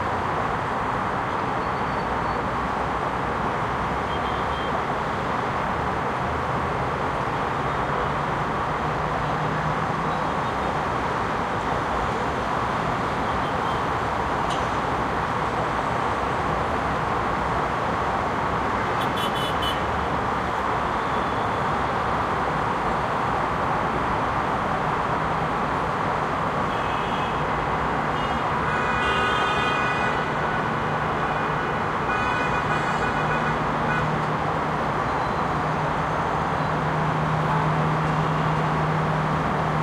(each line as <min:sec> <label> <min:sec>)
0:00.0 traffic 0:39.8